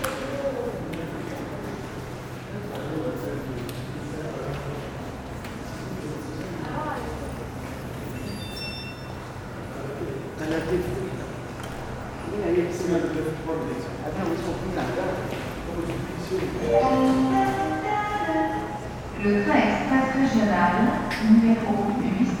A first train to Mantes-La-Jolie arrives 4.6 - 10.4
A first train to Mantes-La-Jolie arrives 13.0 - 22.4

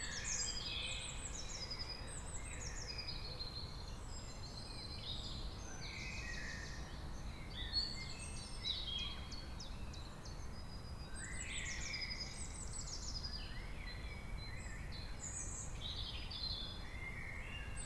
birds 0.0 - 17.8
wind in the trees 0.0 - 17.8

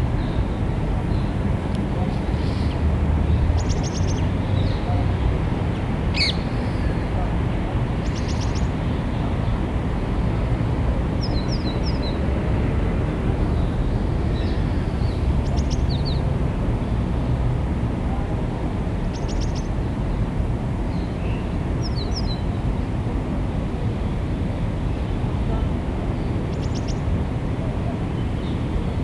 Birds 2.0 - 7.2
Birds 26.1 - 27.1

